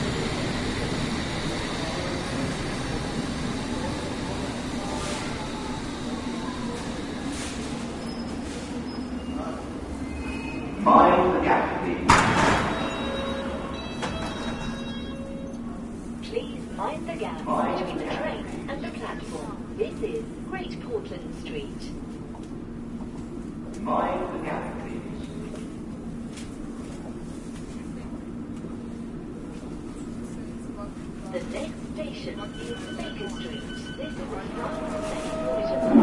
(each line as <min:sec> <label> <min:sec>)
0:00.0 train pulling off 0:10.7
0:00.0 two trains arriving 0:36.0